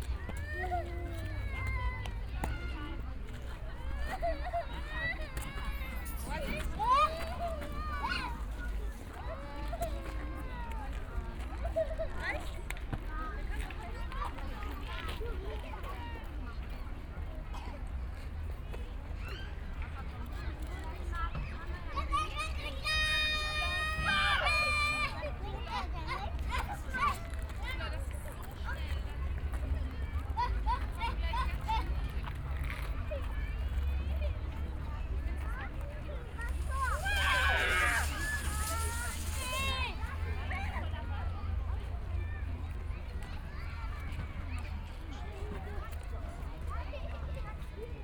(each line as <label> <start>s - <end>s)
children on slide 36.2s - 41.0s